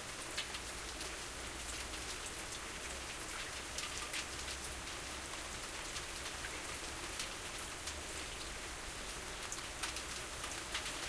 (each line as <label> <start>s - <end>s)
rain on metallic roof 0.0s - 11.0s